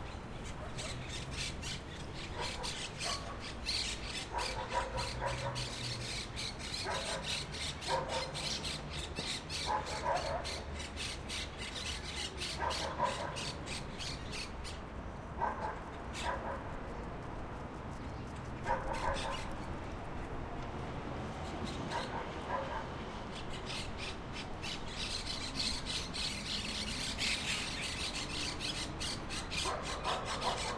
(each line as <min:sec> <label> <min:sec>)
0:00.0 Traffic 0:30.7